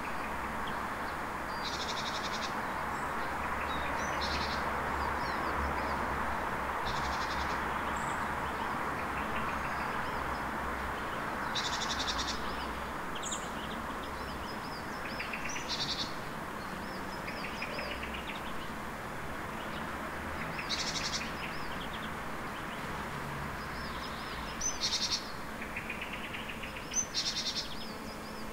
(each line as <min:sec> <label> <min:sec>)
0:00.0 several birds 0:28.5
0:00.0 street-noice 0:28.5